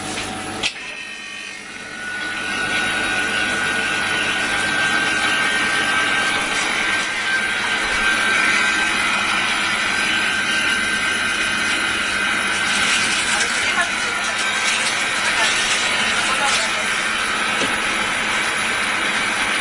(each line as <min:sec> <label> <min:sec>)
0:10.6 two people are buying Cola 0:18.7